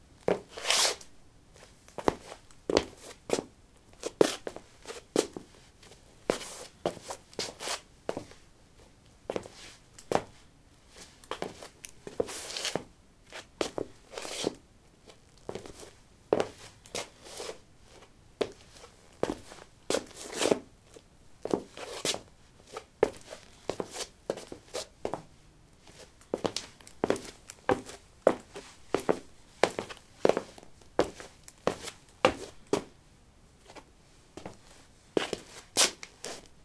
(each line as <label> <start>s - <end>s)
Shuffling on linoleum 15.5s - 32.9s
Shuffling on linoleum 33.6s - 36.5s